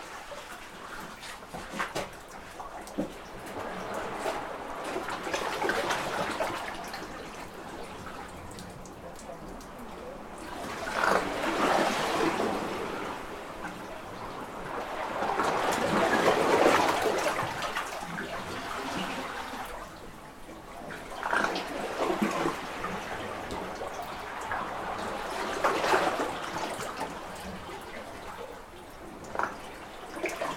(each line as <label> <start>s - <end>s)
Burping Water under a small cave 8.1s - 13.2s
Burping Water under a small cave 21.0s - 23.2s
Burping Water under a small cave 29.1s - 30.5s